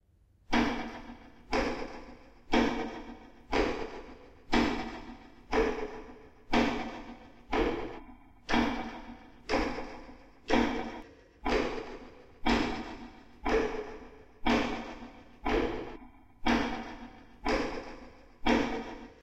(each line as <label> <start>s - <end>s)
clock ticking 0.5s - 19.2s